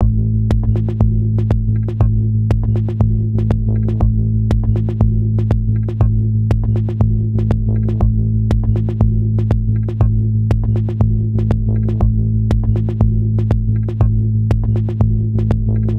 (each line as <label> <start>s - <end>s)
Bass 0.0s - 15.9s
drum loop 0.0s - 15.9s